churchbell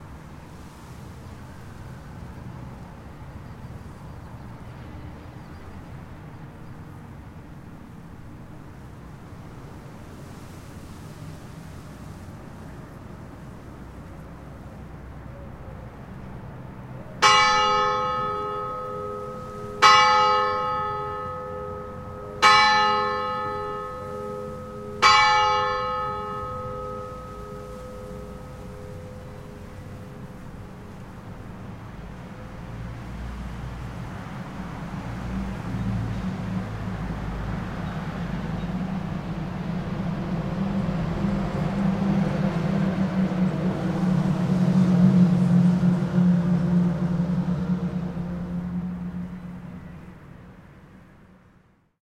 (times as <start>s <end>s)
17.2s 31.0s